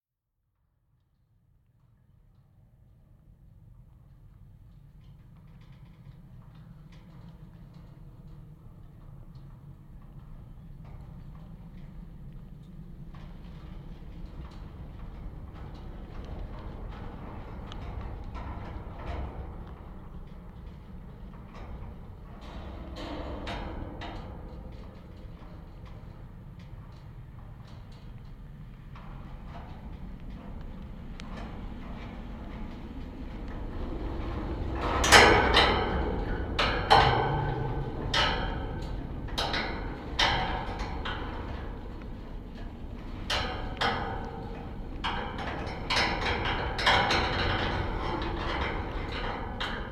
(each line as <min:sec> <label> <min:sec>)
0:03.7 wind rattling the wire fence 0:49.9